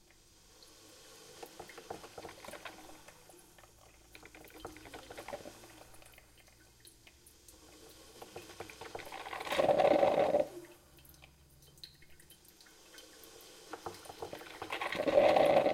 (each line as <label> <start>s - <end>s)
Old Coffee Maker 1.4s - 6.3s
Old Coffee Maker 7.5s - 10.6s
Old Coffee Maker 13.7s - 15.7s